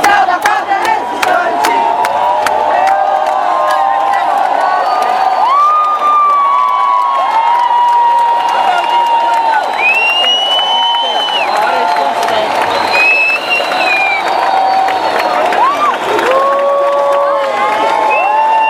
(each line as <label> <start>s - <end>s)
people protest 0.0s - 7.0s